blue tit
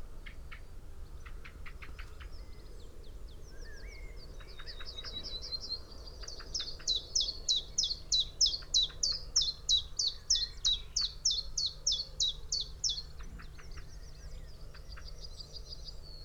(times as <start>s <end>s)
6.2s 15.9s